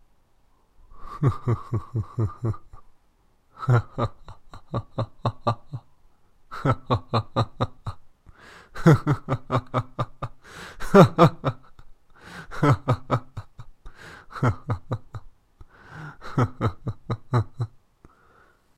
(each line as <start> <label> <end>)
1.0 Evil Laugh 2.9
3.6 Evil Laugh 5.9
6.5 Evil Laugh 8.0
8.8 Evil Laugh 11.9
12.5 Evil Laugh 15.3
16.0 Evil Laugh 17.8